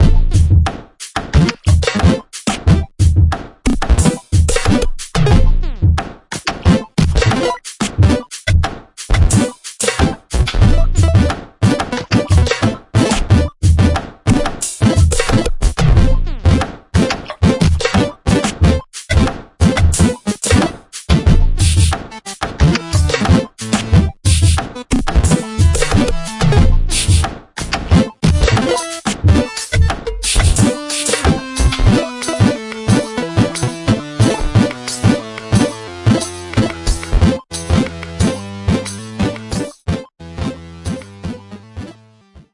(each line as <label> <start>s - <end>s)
Beat 0.0s - 6.0s
Beat 6.7s - 39.7s
synths 27.9s - 42.3s